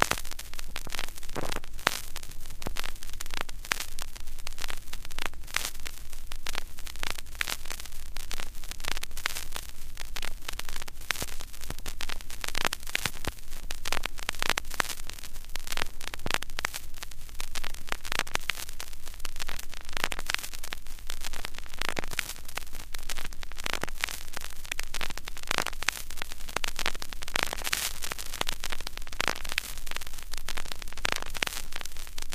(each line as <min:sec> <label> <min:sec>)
0:00.0 Repeating vinyl crackle 0:32.3